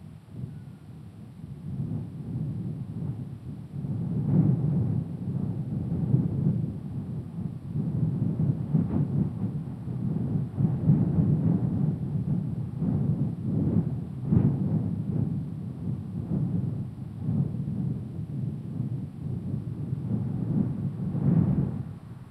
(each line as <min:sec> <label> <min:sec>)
0:00.0 Wind 0:22.3